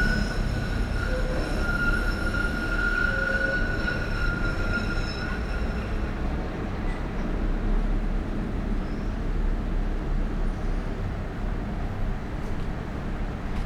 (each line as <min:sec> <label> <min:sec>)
0:00.0 trains heading north and east swing on the tracks 0:13.6
0:00.0 trams 0:13.6